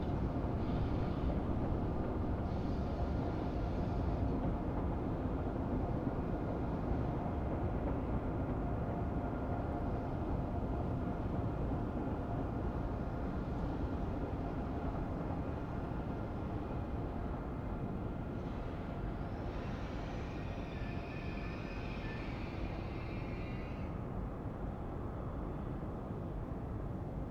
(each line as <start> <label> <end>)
0.0 passing trains 27.3